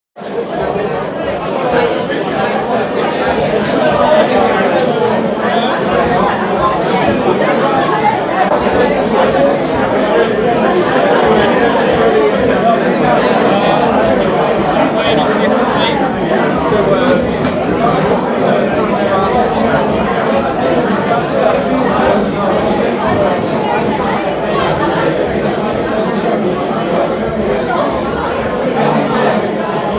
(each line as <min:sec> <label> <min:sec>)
0:00.2 chatter 0:29.9